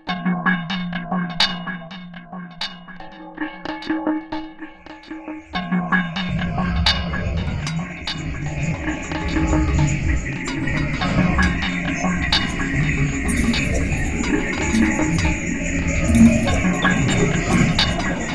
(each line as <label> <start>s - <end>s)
percussions sounds 4.4s - 18.3s
voice 5.6s - 18.3s